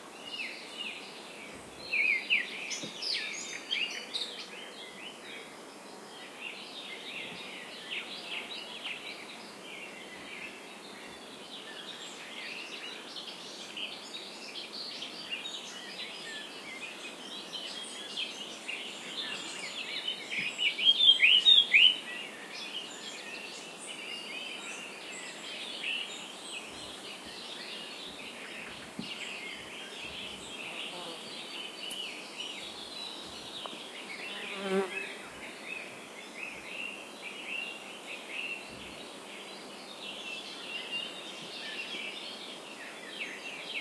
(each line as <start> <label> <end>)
0.0 Morning birds 43.8